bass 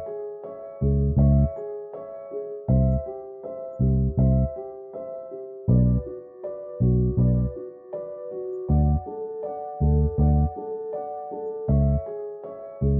0:00.7 0:01.6, 0:02.6 0:03.1, 0:03.8 0:04.6, 0:05.7 0:06.1, 0:06.8 0:07.6, 0:08.7 0:09.1, 0:09.8 0:10.6, 0:11.7 0:12.1

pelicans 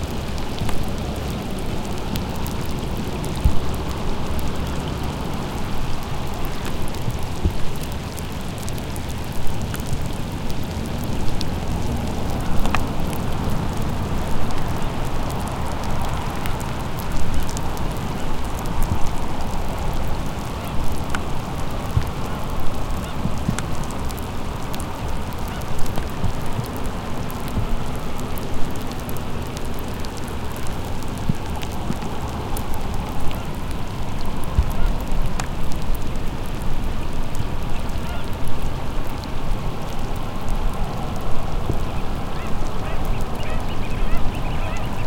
0:38.0 0:38.3, 0:42.3 0:45.0

